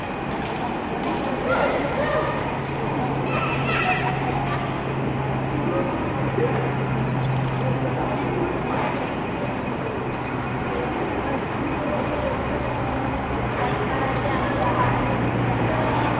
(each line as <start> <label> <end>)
0.0 kids playing 16.1
0.0 traffic sounds 16.1